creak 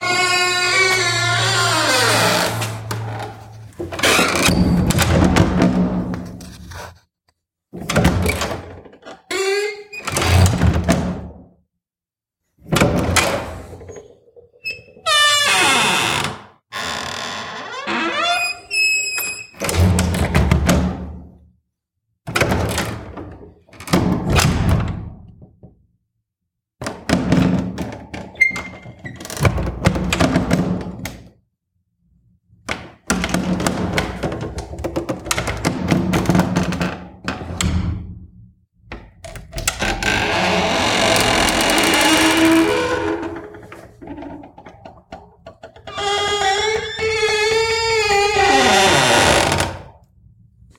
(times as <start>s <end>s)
0.0s 4.7s, 9.0s 10.5s, 13.8s 19.6s, 39.5s 49.9s